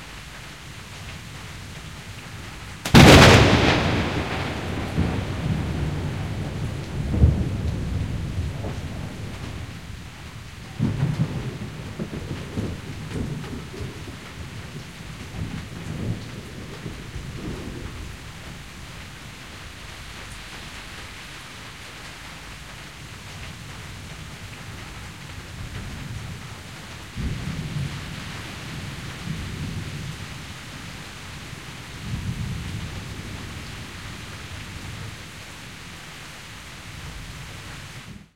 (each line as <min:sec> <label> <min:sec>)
0:00.0 light rain 0:38.3
0:02.8 thunder 0:18.6
0:27.0 thunder 0:30.5